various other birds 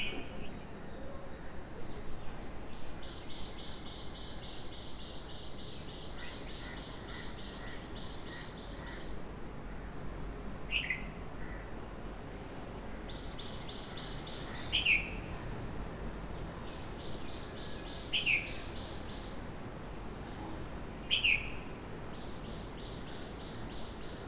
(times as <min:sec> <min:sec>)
0:21.0 0:24.2